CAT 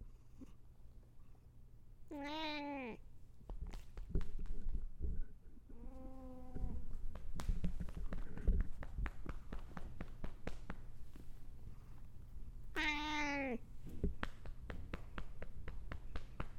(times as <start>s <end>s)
2.1s 3.0s, 5.7s 6.9s, 12.7s 13.7s